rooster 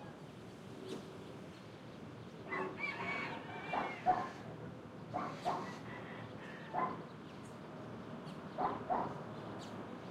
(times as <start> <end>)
2.5 4.5, 5.6 6.8